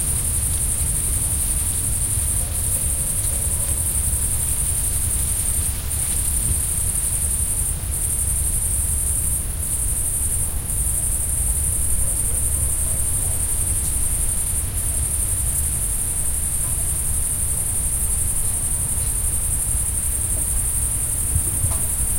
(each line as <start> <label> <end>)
0.0 leaves blown by the wind 10.6
0.0 cicadas 22.1
0.0 crickets 22.1
11.8 leaves blown by the wind 22.1